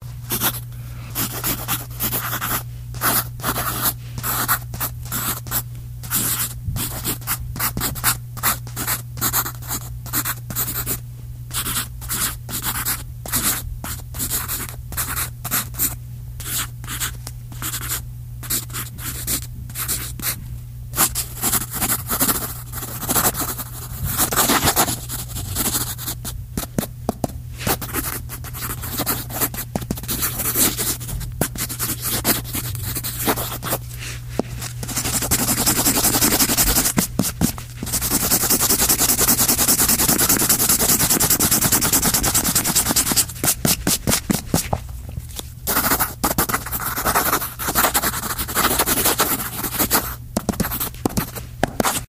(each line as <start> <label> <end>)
0.3 Handwritten on paper 20.4
21.0 Handwritten on paper 44.8
45.4 Handwritten on paper 52.0